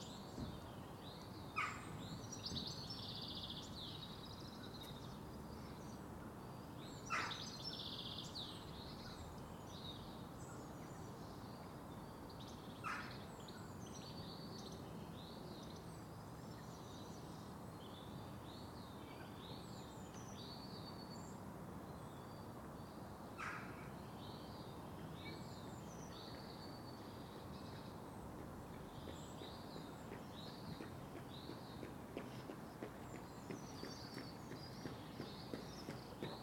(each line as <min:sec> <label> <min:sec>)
0:28.4 Two runners 0:36.4